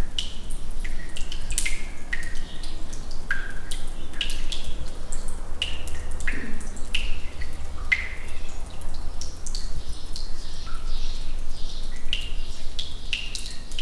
water drops 0.0 - 13.8

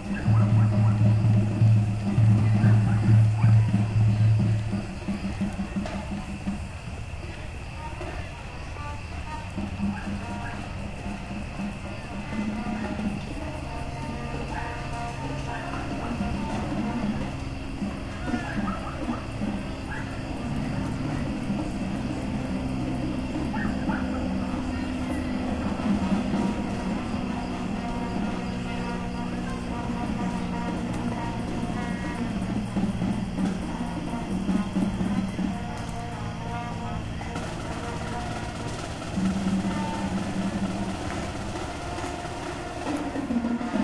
dogs barking 0.0 - 4.0
birds 0.0 - 43.8
cars passing 0.0 - 43.8
crickets 0.0 - 43.8
kids yelling 0.0 - 43.8
marching band warming up 0.0 - 43.8
middle school football team cheering back-and-forth 0.0 - 43.8
dogs barking 9.8 - 11.2
dogs barking 15.4 - 35.9

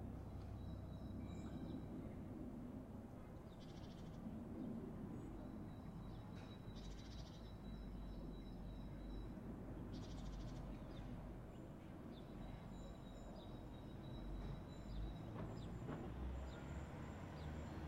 Helicopter flying 0.0 - 15.4

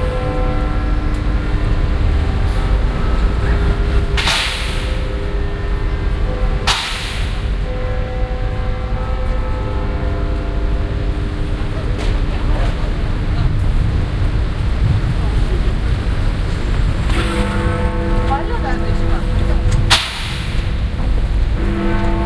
Big Ben 0.0 - 22.2

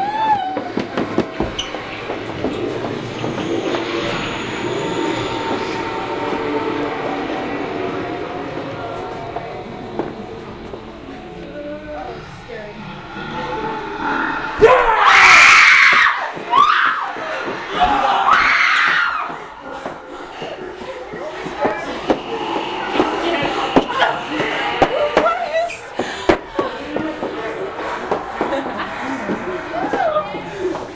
walking through a high end Haunted House 0.0 - 30.9
Girls have high pitched screams 14.5 - 19.4

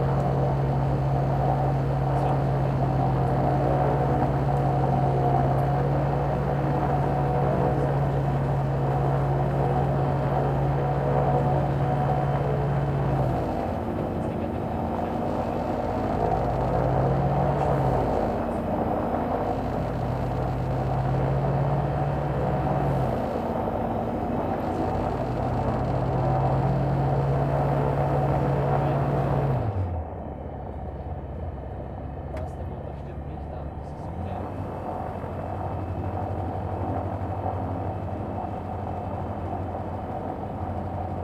starting engine 0.0 - 41.2

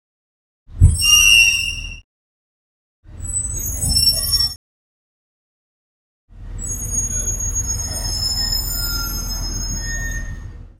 large trolley's rusty brakes 6.6 - 10.7

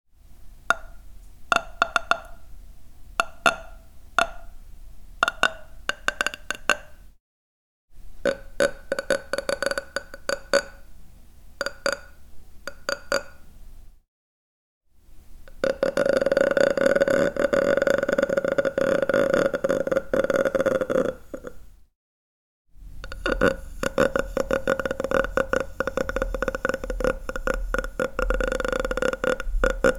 slight background noise 0.2 - 7.2
slight background noise 8.0 - 14.0
slight background noise 22.8 - 29.9

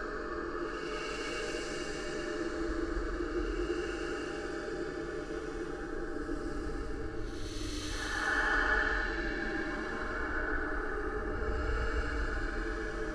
Ghostly whispers 0.0 - 13.1

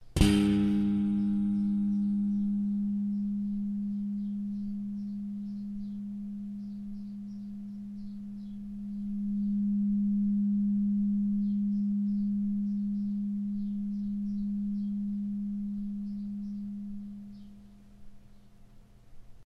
plucking a metal spring 0.0 - 6.0

